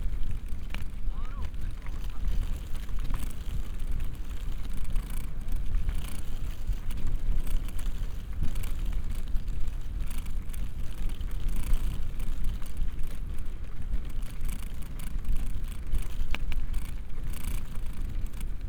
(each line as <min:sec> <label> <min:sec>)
0:00.0 small, wilted leaf jiggling in the wind 0:18.6